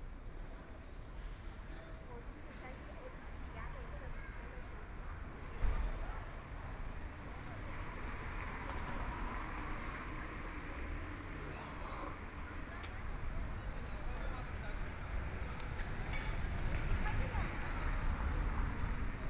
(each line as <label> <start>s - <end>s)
Traffic Sound 7.5s - 19.2s